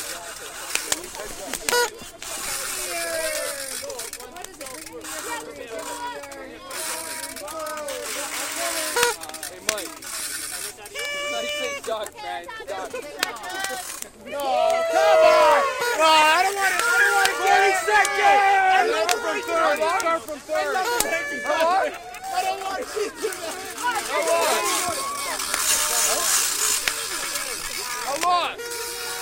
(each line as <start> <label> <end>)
0.0 noisemakers 29.2
0.0 small crowd 29.2
0.9 yelling 4.5
10.7 yelling 29.2